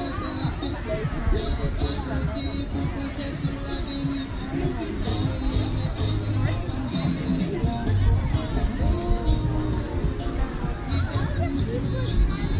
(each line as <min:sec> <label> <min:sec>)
0:00.0 People talking 0:12.5